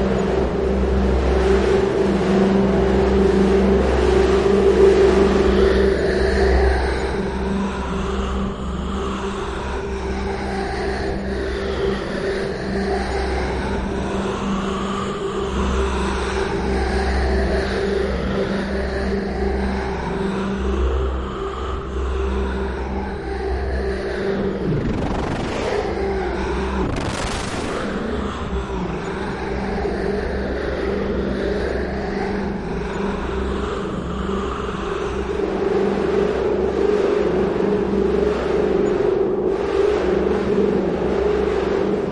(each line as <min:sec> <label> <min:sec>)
0:00.0 drone 0:42.1
0:00.0 wind 0:42.1